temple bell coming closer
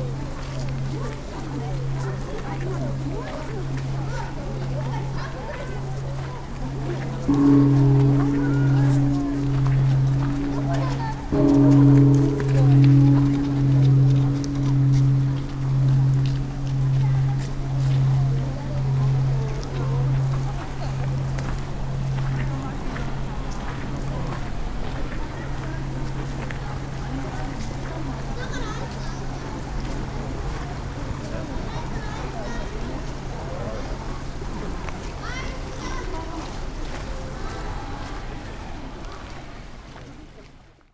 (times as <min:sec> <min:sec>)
0:00.1 0:31.5